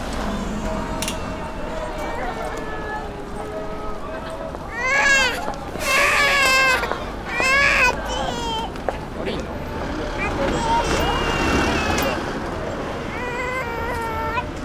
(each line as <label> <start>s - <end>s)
pedestrian crossing 0.0s - 14.6s